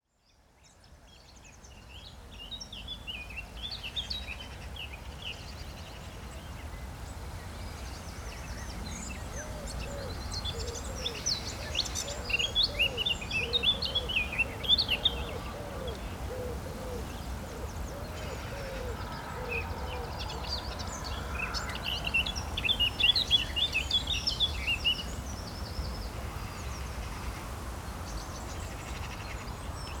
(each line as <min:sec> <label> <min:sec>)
0:00.0 wind 0:30.0
0:07.6 birds 0:30.0